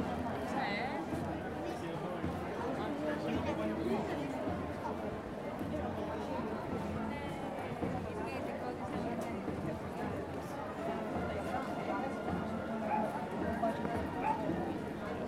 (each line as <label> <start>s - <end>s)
People talking on the street 0.0s - 15.2s
percussion 0.0s - 15.2s
band playing wind instruments 10.7s - 15.0s